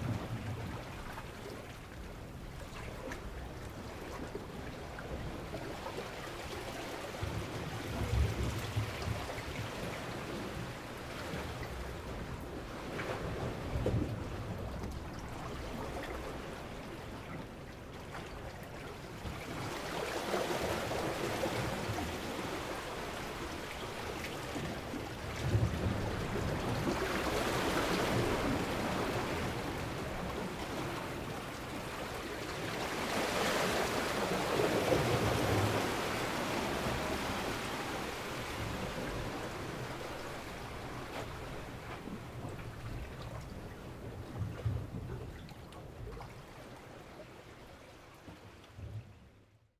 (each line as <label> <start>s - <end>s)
Waves swirl on rocks 18.9s - 44.1s